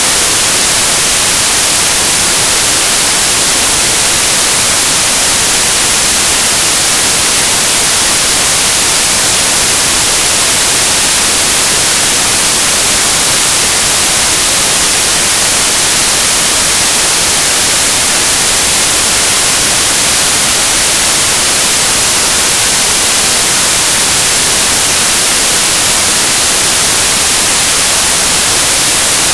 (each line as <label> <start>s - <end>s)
white noise 0.0s - 29.3s